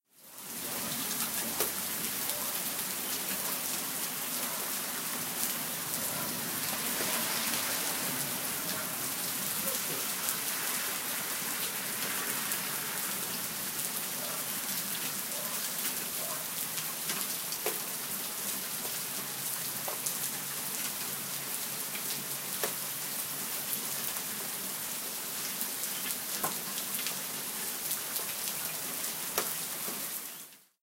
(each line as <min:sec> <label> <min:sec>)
0:00.0 Rain 0:30.8